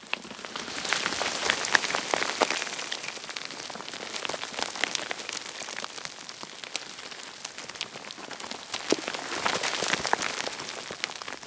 0.0s Small stone avalanche 11.4s

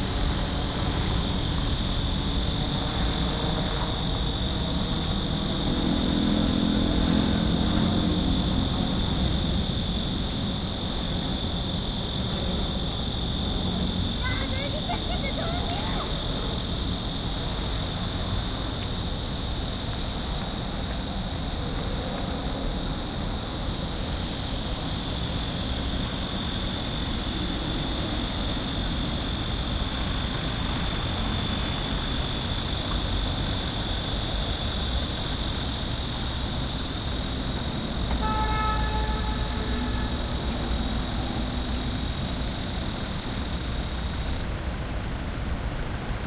0.0s Cicada 46.2s
0.0s traffic 46.2s
0.0s helicopter 40.4s

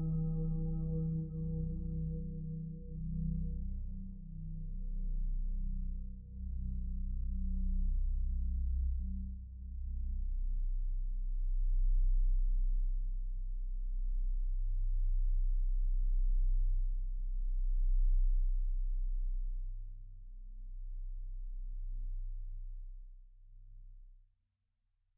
0.0s synthesizer 11.9s

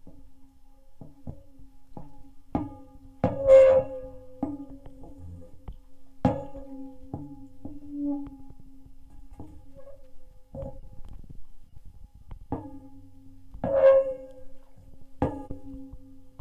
3.2s noise as the result of the contact mic moving slightly 16.4s

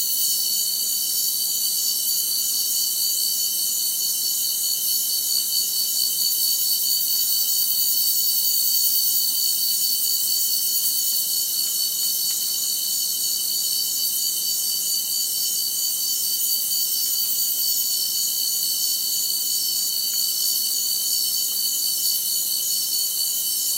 0.0s cicada 23.7s
0.0s crickets 23.7s

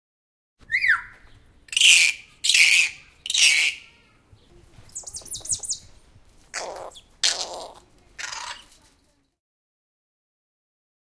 6.5s kaka - native parrot to New Zealand - letting loose 8.8s

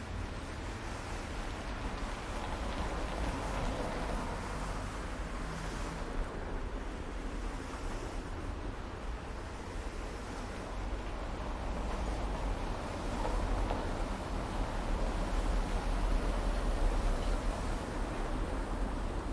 0.0s quiet traffic 19.3s

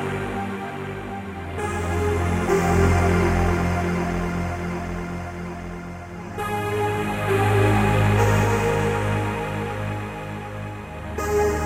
0.0s synth 11.6s

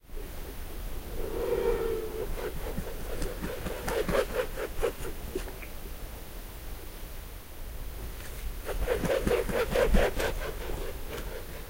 0.0s wind in the trees 11.6s
1.0s raven swooped down 2.8s

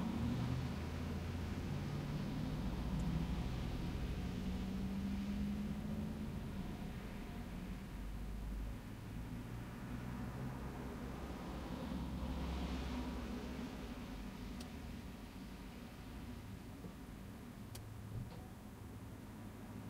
0.0s cars passing by 19.8s

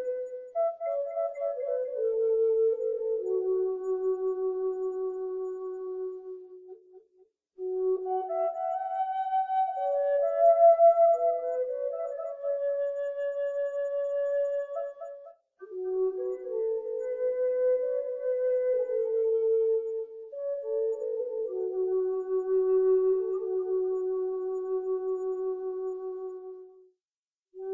0.0s flute 26.9s

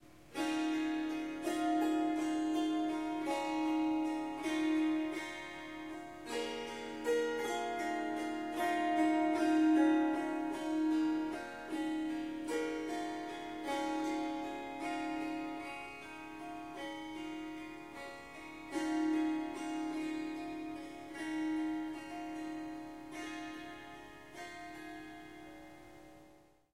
0.3s Harp Melody 26.0s

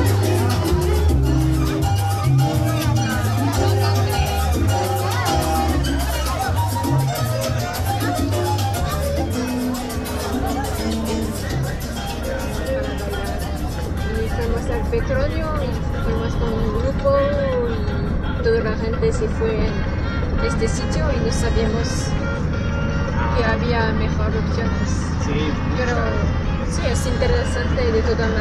0.0s marimba 28.4s

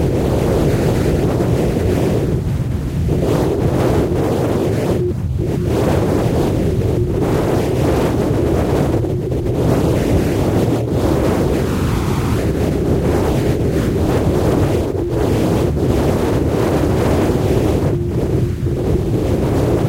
0.0s wind 19.8s

